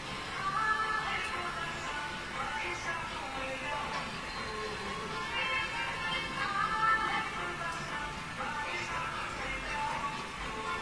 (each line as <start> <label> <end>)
0.0 music 10.8